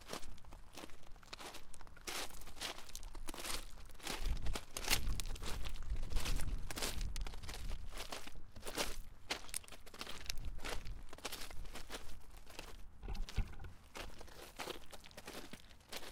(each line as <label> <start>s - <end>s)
Footsteps on Gravel 0.0s - 16.1s